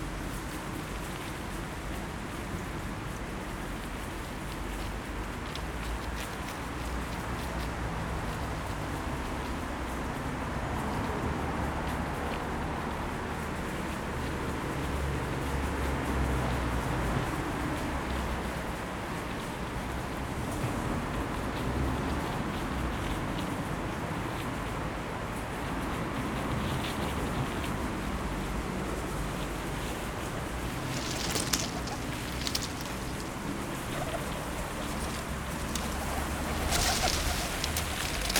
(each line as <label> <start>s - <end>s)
city traffic 0.0s - 38.3s
pigeons rummaging for food amongst the dead leaves 28.8s - 38.3s